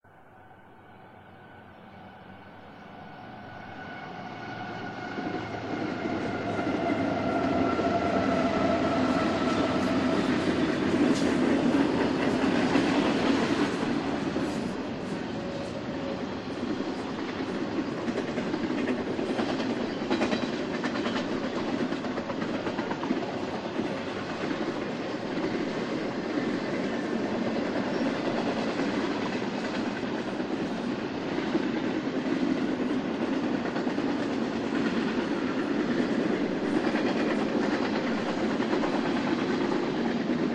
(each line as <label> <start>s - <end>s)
Freight Train Passing By 0.0s - 40.5s
three diesel electric locomotives in the front 0.2s - 40.5s